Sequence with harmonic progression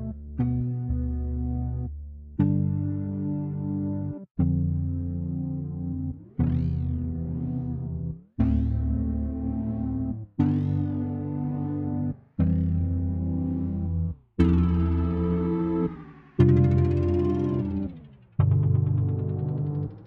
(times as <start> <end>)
13.4 20.0